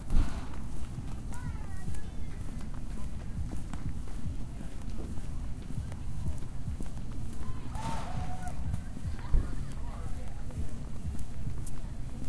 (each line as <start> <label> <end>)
0.0 foot steps 12.2
0.6 music 12.2
7.7 cheering 8.7